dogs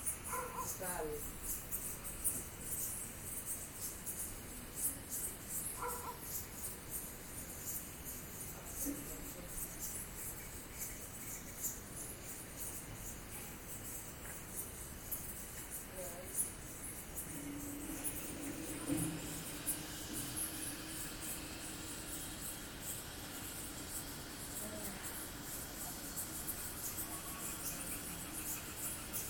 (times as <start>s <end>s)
0.2s 0.9s, 5.7s 6.4s, 27.0s 29.2s